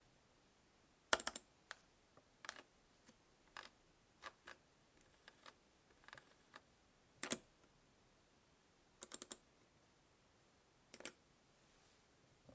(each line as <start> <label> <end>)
1.1 CLicking and rolling with a PC mouse 1.8
2.4 CLicking and rolling with a PC mouse 7.5
9.0 CLicking and rolling with a PC mouse 9.4